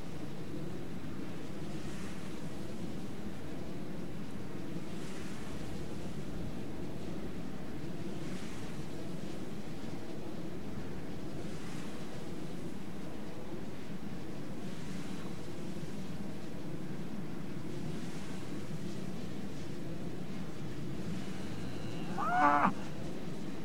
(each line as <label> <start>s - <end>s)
windmills 0.0s - 23.6s
cows uncomfortable with human presence 21.3s - 22.9s